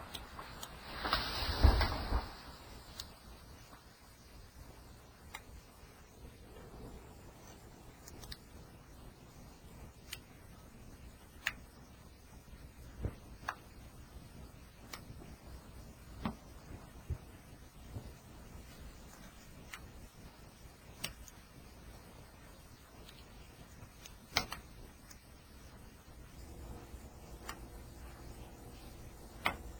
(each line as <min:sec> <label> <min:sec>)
0:00.0 falling trees 0:03.8
0:00.1 snapping tree limbs 0:03.1
0:00.2 mini avalnches of snow falling from the trees 0:03.9